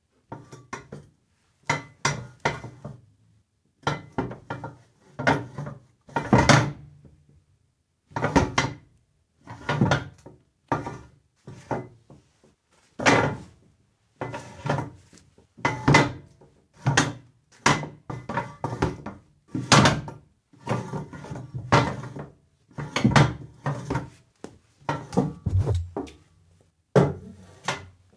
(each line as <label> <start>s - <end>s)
metal chair dragging and accommodating 24.9s - 26.2s